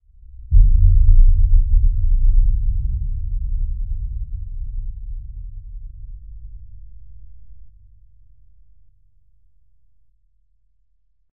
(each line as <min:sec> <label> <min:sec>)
0:00.2 Very low-pitched explosion 0:07.7